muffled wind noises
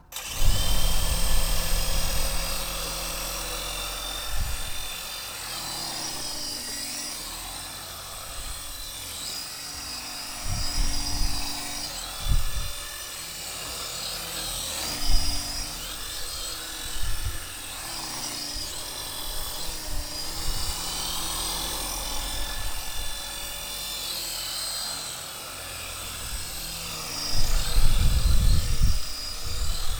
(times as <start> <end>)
27.3 29.9